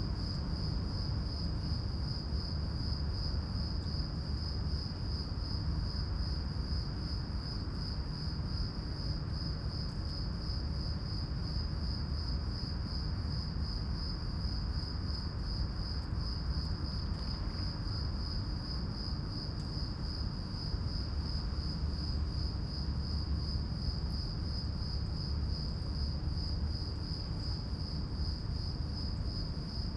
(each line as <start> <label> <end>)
0.0 crickets echoing in the empty building 29.9